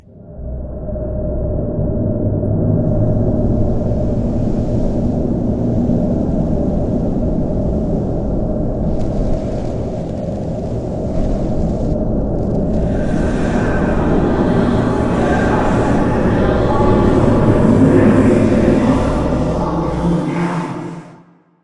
0.1s wind sounds 21.1s
12.9s recorded voice 21.2s

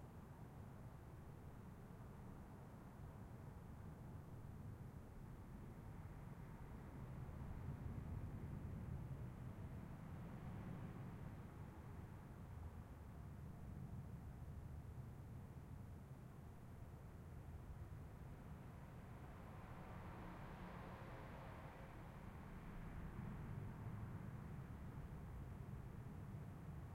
15.5s light traffic 26.9s

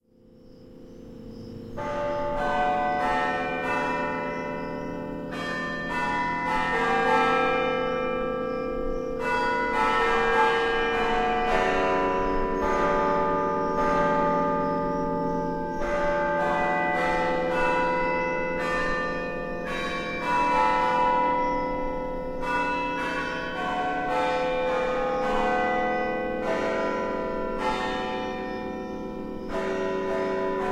0.1s crickets 2.2s
0.1s bells 30.7s

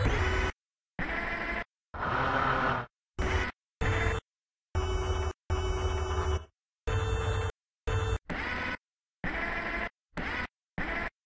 0.0s robot arms moving up and down 4.2s
4.8s robot arms moving up and down 11.2s

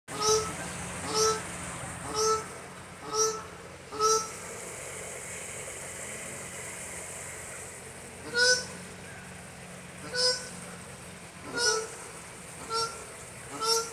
0.1s goose-like honks of a South African shelduck 1.4s
0.1s Stream in Background 13.9s
2.0s goose-like honks of a South African shelduck 4.3s
8.2s goose-like honks of a South African shelduck 8.8s
10.0s goose-like honks of a South African shelduck 10.6s
11.4s goose-like honks of a South African shelduck 13.9s

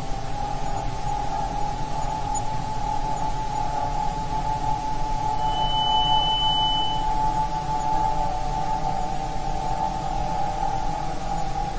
5.4s ear ringing sound 7.1s

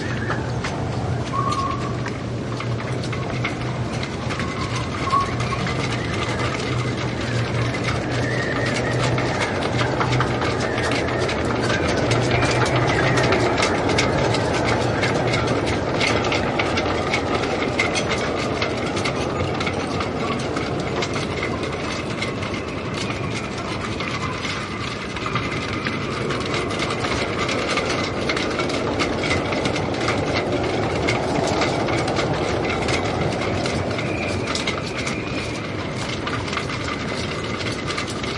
0.0s shrouds clattering in the wind 38.3s

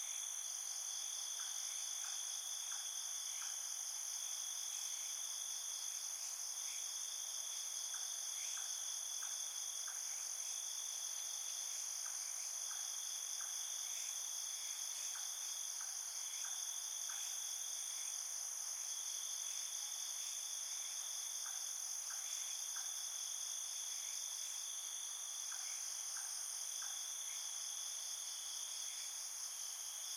0.0s Crickets chirping 30.1s

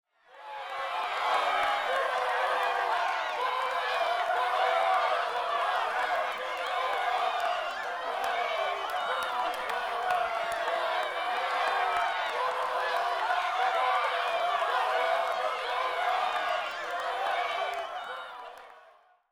0.1s cheering 19.3s
0.6s Medium Crowd Yelling 18.7s

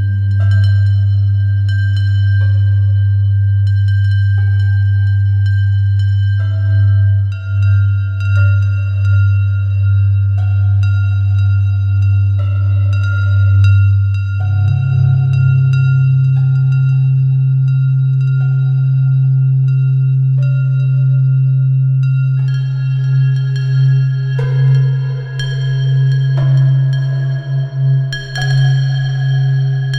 6.4s deep, evolving tone 29.9s

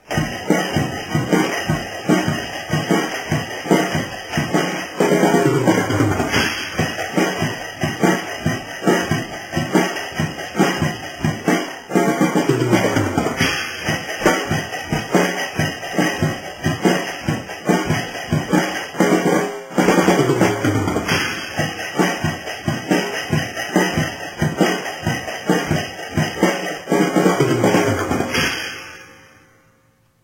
0.0s faster tempo drum beat 29.1s

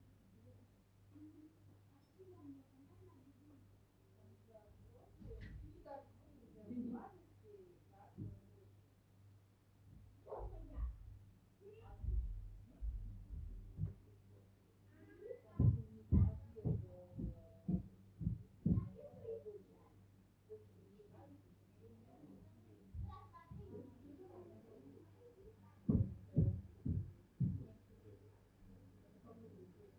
0.1s Muffled Murmurs Through The Wall 29.9s

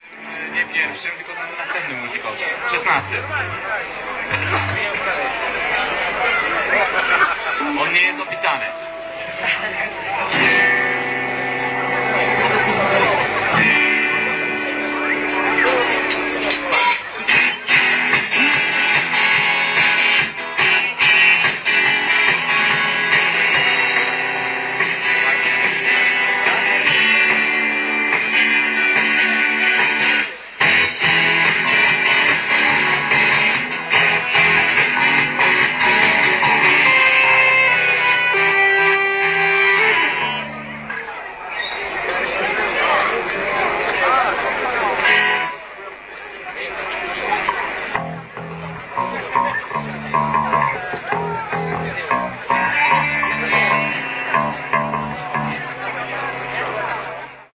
0.0s hubbub 57.5s
2.7s instruments 5.3s
7.6s instruments 18.1s
47.5s instruments 57.5s

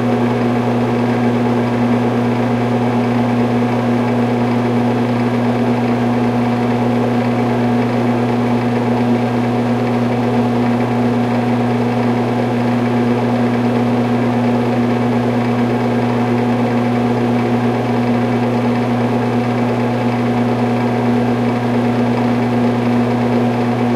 0.0s exhaust fan 23.9s

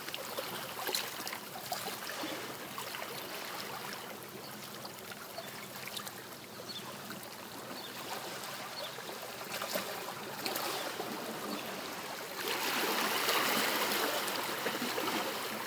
0.0s waves 15.6s

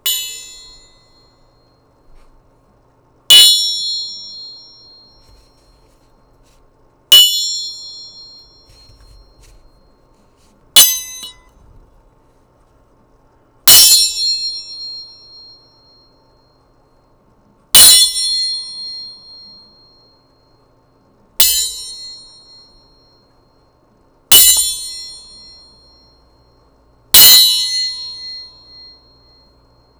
0.0s metal gong ringing 1.3s
10.8s metal gong ringing 11.5s

